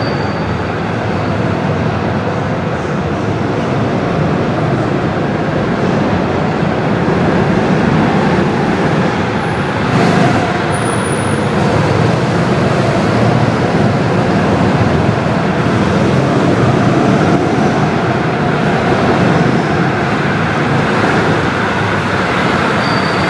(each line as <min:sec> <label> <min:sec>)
0:06.0 go kart 0:23.2